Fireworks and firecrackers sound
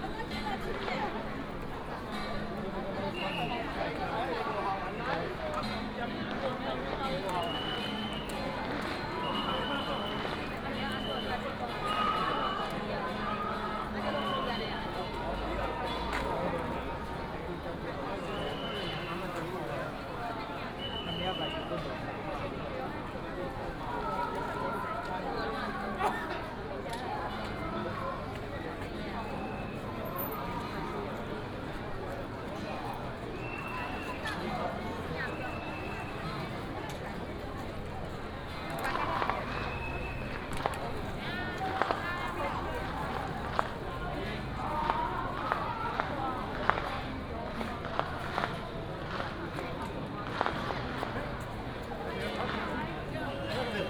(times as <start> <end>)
38.3 53.8